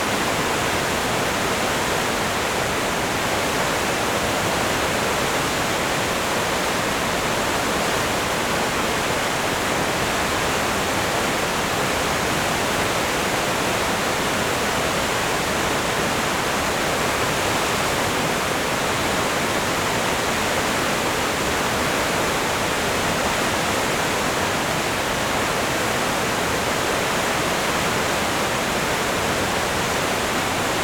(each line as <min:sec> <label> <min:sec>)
0:00.0 water of the of the river Enns falls down a steep slope 0:30.8